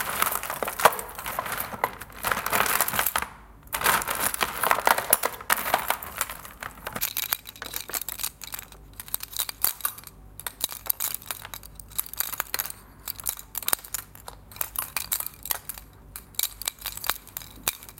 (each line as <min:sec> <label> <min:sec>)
0:00.0 rattling costume jewellery 0:17.9